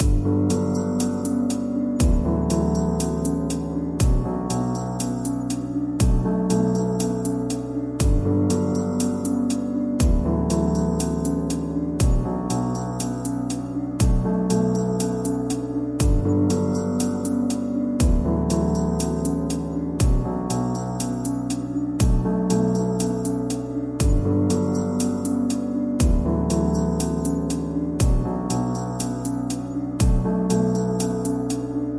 0.0s piano with a delay 31.9s
1.0s drums 2.3s
4.0s drums 4.3s
6.0s drums 6.3s
8.0s drums 8.3s
9.0s drums 10.2s
12.0s drums 12.3s
14.0s drums 14.2s
16.0s drums 16.3s
17.0s drums 18.2s
20.0s drums 20.2s
22.0s drums 22.2s
24.0s drums 24.2s
28.0s drums 28.2s

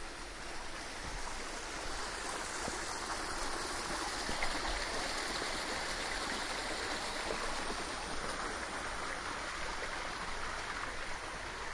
0.0s small water-fall 11.7s
0.0s stream 11.7s

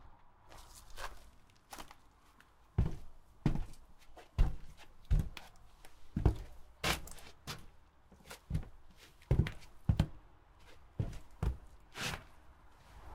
2.8s footsteps shoes hollow wood platform 12.3s

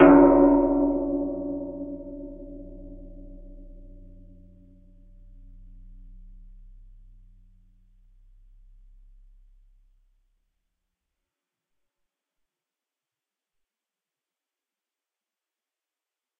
0.0s Gong 10.2s

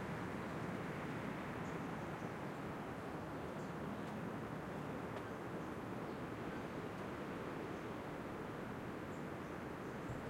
0.0s wind 10.2s

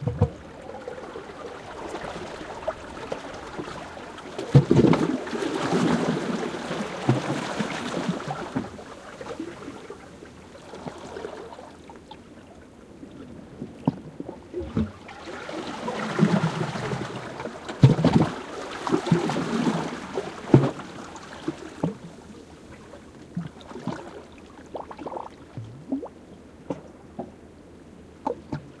0.0s water moving through the seaweed 27.1s
0.0s Quiet waves lapping again some rocks 28.8s

